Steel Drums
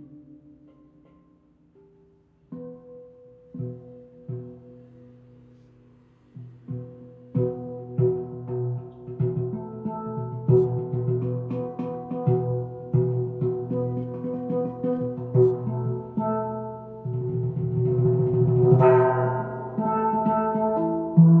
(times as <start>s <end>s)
6.4s 21.4s